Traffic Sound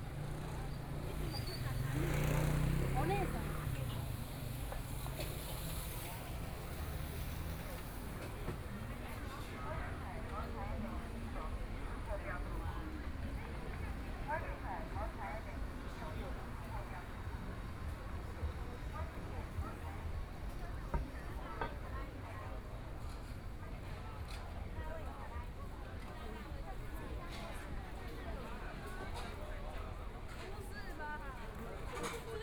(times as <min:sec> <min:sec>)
0:00.0 0:21.9